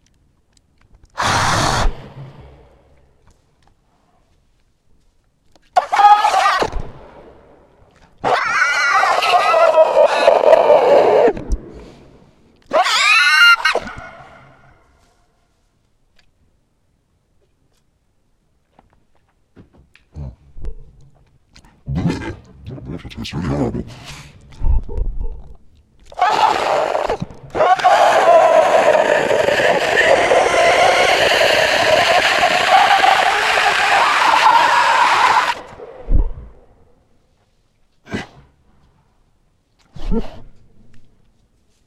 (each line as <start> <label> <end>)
1.2 screeches 2.5
5.8 screeches 6.8
8.2 screeches 11.4
12.7 screeches 14.9
26.1 screeches 36.6
26.1 growling 36.8